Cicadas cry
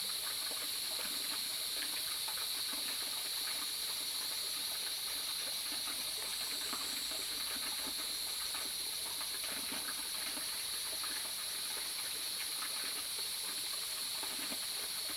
0.1 9.0

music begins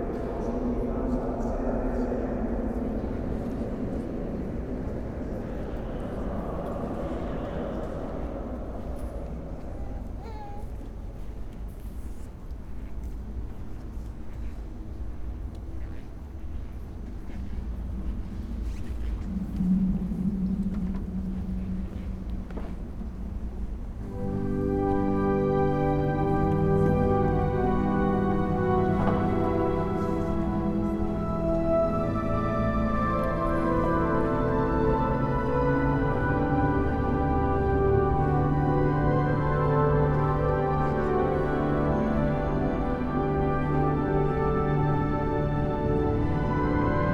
24.1 47.1

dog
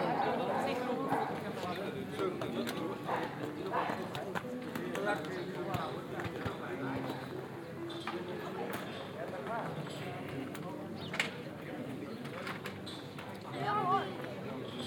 3.0 4.0

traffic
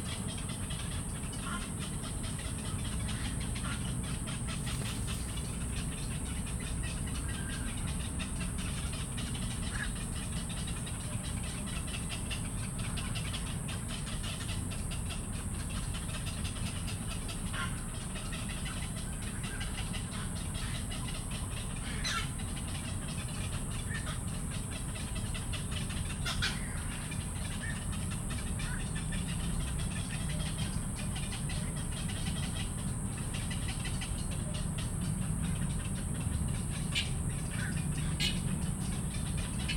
25.1 39.7

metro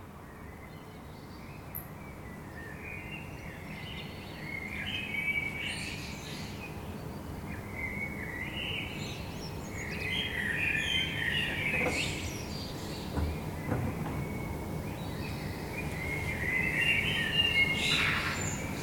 6.7 18.8

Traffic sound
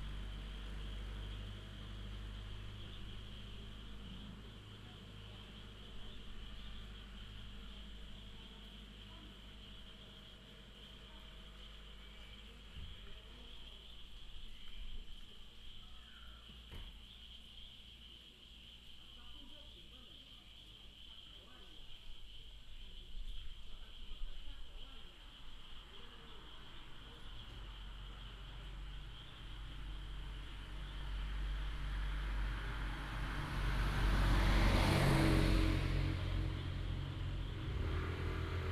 0.0 13.8, 25.7 38.7

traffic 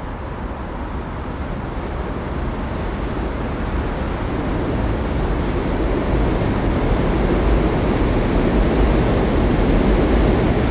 0.0 6.8

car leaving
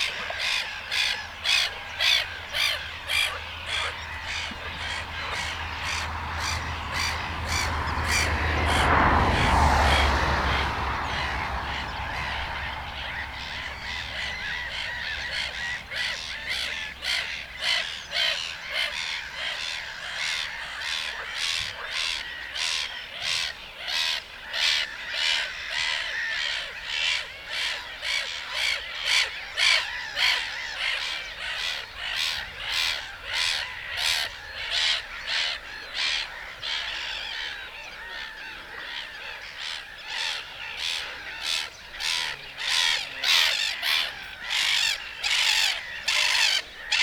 1.2 17.6

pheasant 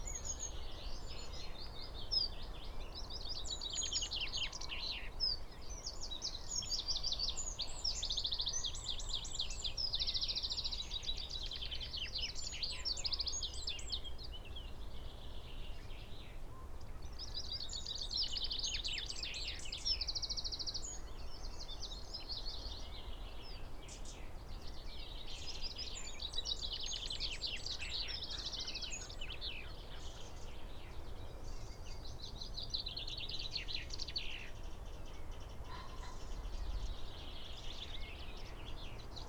16.0 39.2

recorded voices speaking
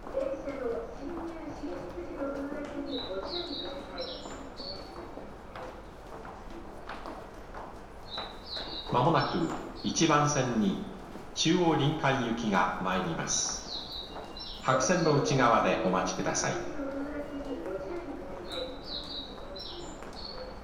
0.1 5.6, 8.8 13.8, 14.6 20.6

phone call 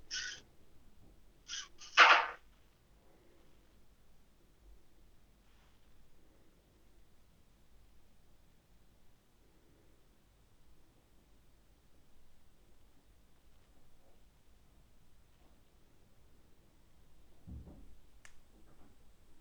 1.5 2.4

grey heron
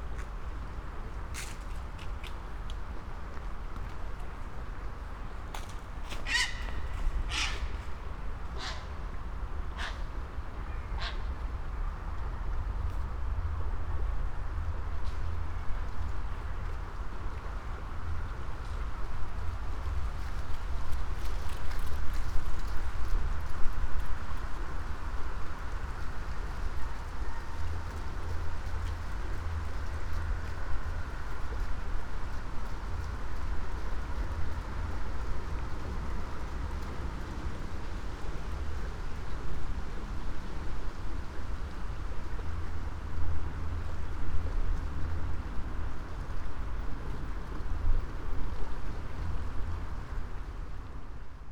6.1 11.4

